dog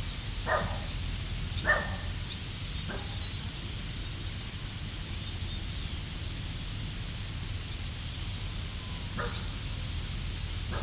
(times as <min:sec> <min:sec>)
0:00.5 0:00.9, 0:01.6 0:02.1